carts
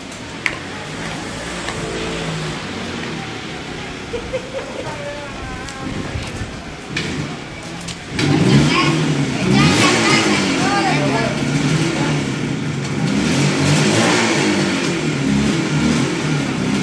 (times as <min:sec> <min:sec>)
0:00.0 0:13.3